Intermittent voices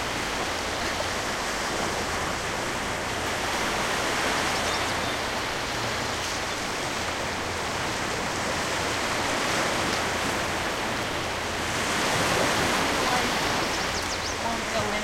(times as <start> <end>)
14.4 15.0